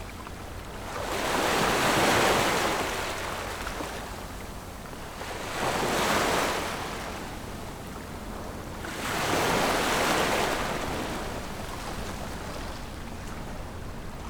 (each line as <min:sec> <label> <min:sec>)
0:00.0 waves 0:14.2